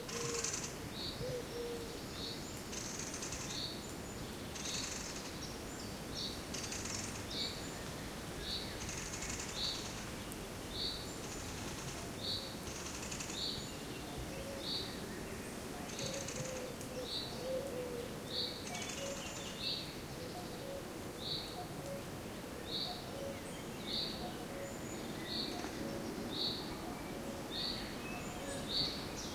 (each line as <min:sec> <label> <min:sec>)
0:00.0 cuckoo 0:02.0
0:00.0 wind 0:29.3
0:14.1 cuckoo 0:14.9
0:15.8 cuckoo 0:19.4
0:20.1 cuckoo 0:29.0